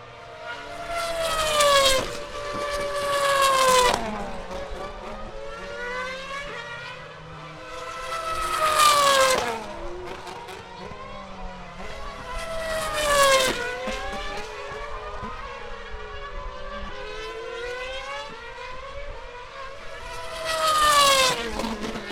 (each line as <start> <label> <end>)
0.0 F1 Cars at screeching past a corner 22.1